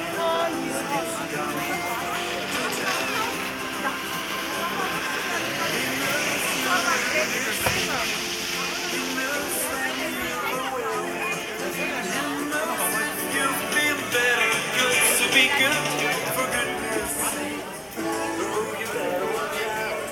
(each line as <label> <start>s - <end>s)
children gliding artificial slope on inner tubes 0.0s - 20.1s
music 0.0s - 20.1s